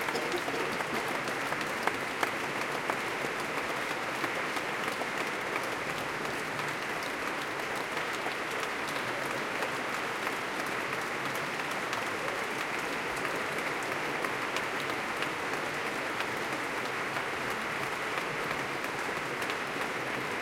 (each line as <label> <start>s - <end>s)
applause 0.0s - 20.4s
cheering 0.0s - 20.4s